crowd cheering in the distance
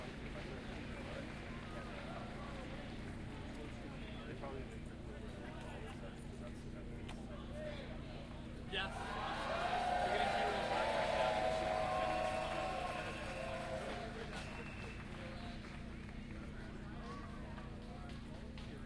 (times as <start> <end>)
8.8 18.8